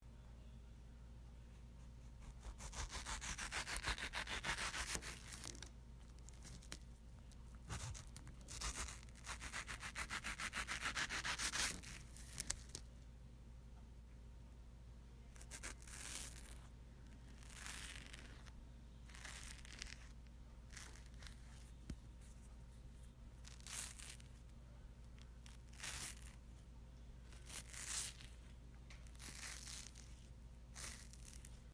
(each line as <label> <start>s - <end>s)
Cutting a mango on a cutting board 2.2s - 5.3s